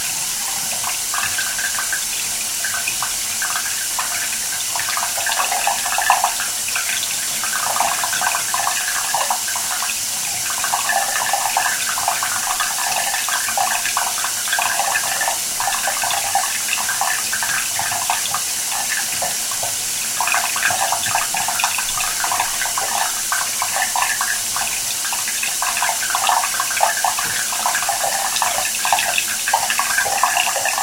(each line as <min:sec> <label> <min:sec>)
0:00.0 Water gurgling bath overflow hole 0:30.8
0:00.0 water tap 0:30.8